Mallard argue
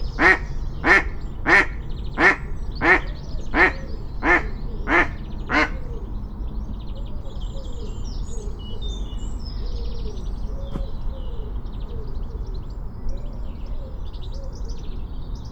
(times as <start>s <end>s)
0.2s 5.8s